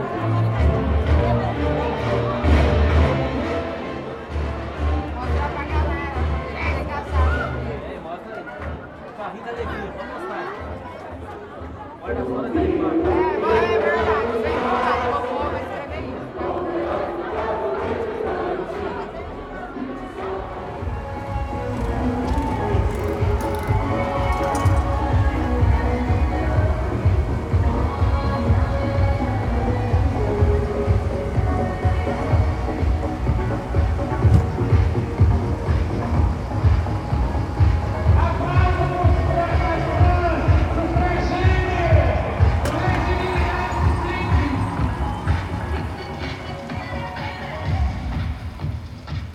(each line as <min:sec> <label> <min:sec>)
0:12.1 national anthem 0:49.0
0:19.1 electronic music 0:27.8
0:20.6 presentation of maracatu 0:26.8